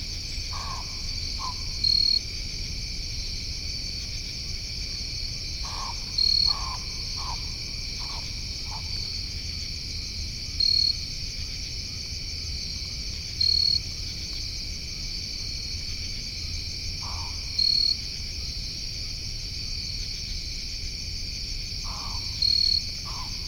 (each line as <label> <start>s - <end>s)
Crickets 0.0s - 23.4s
pine barrens tree frog can be faintly heard honking 0.5s - 2.2s
pine barrens tree frog can be faintly heard honking 5.6s - 9.2s
pine barrens tree frog can be faintly heard honking 16.9s - 18.0s
pine barrens tree frog can be faintly heard honking 21.8s - 23.4s